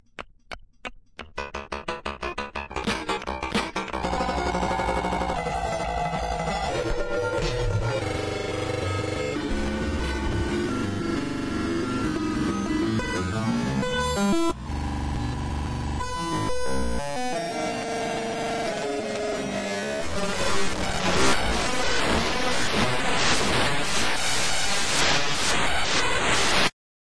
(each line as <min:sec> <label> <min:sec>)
0:01.7 bass 0:17.2